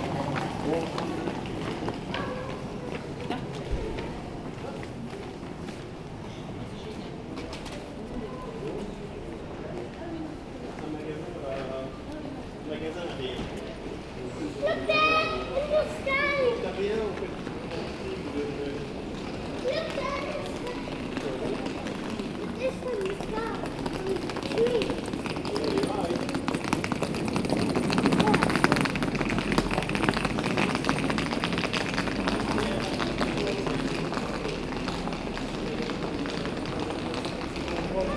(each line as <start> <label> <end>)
0.0 People walking on the street 38.1
17.0 two old persons find the statuettes very expensive 38.1